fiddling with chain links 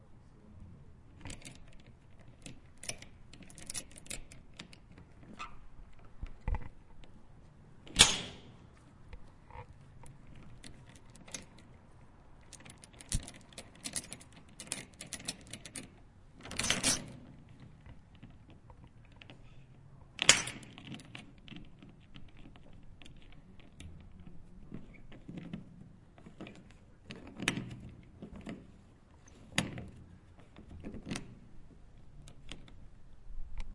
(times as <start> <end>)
1.3 4.8, 12.5 17.2